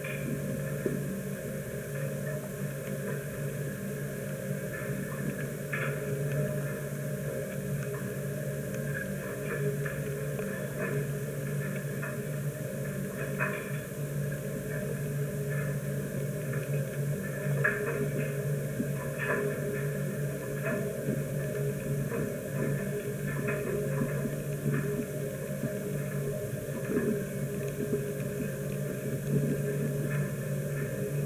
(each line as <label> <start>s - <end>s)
inside the metal tower of the wind generator 0.0s - 31.2s